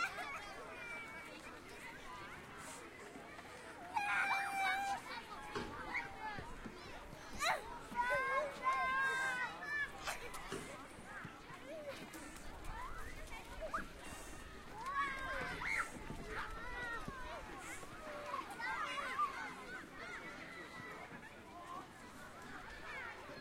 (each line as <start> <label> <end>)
0.0 children 23.4